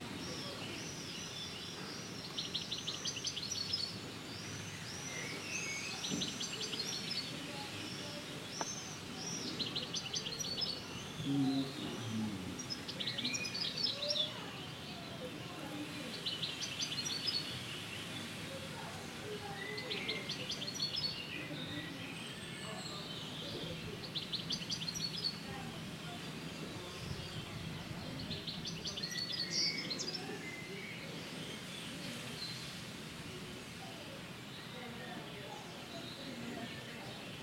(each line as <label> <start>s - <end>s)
bird sounds 0.0s - 37.4s
fragments of conversation of a mother and her children 0.0s - 37.4s